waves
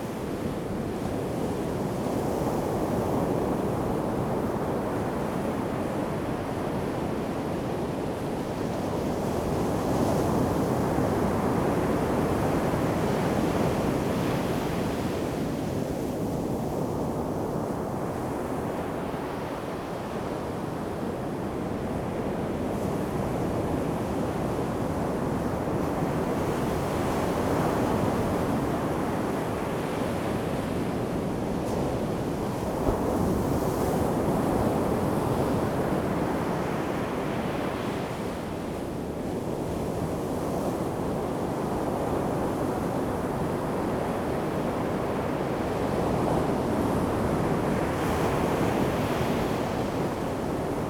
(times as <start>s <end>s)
23.5s 50.8s